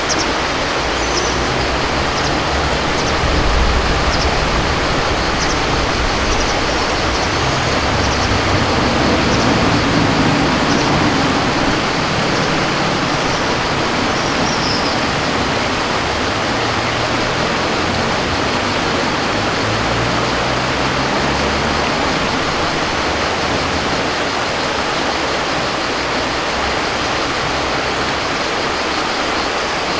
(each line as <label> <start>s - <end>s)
river 0.0s - 29.9s